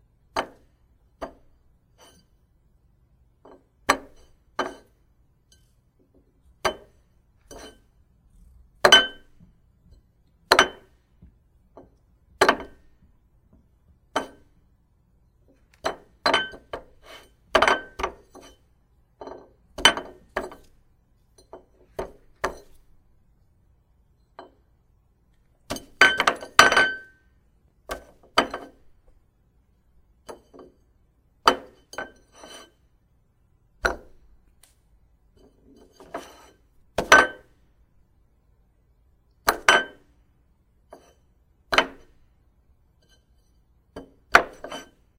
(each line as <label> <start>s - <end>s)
Ceramic Plate Sounds 0.3s - 2.4s
cutlery 2.0s - 2.4s
Ceramic Plate Sounds 3.4s - 5.8s
Ceramic Plate Sounds 6.6s - 8.0s
cutlery 6.6s - 7.9s
Ceramic Plate Sounds 8.8s - 9.9s
Ceramic Plate Sounds 10.5s - 11.0s
Ceramic Plate Sounds 11.7s - 13.0s
Ceramic Plate Sounds 14.1s - 14.6s
Ceramic Plate Sounds 15.5s - 22.9s
cutlery 15.6s - 20.8s
Ceramic Plate Sounds 25.7s - 27.3s
Ceramic Plate Sounds 27.9s - 29.0s
Ceramic Plate Sounds 31.4s - 32.9s
cutlery 31.5s - 32.8s
Ceramic Plate Sounds 33.8s - 34.2s
Ceramic Plate Sounds 35.3s - 37.6s
cutlery 35.4s - 37.5s
Ceramic Plate Sounds 39.5s - 40.2s
Ceramic Plate Sounds 40.9s - 42.2s
cutlery 40.9s - 42.2s
cutlery 43.0s - 45.1s
Ceramic Plate Sounds 43.0s - 45.1s